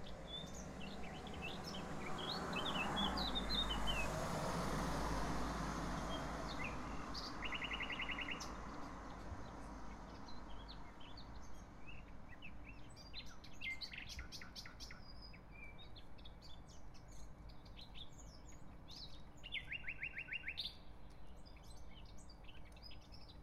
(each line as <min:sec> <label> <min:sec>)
0:06.0 nightingale 0:23.4